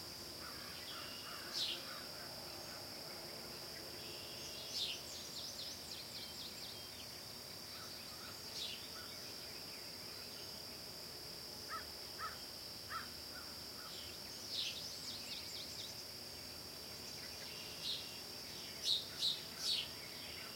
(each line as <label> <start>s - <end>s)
frogs 0.0s - 11.0s
insects 0.0s - 20.5s
wild birds 0.4s - 10.7s
frogs 11.6s - 20.5s
wild birds 11.7s - 20.5s